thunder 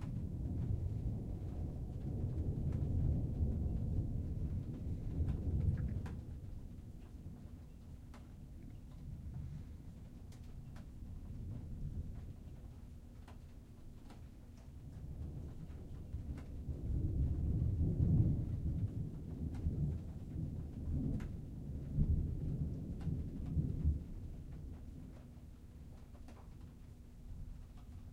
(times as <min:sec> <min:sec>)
0:00.0 0:07.5, 0:08.9 0:12.8, 0:14.8 0:25.2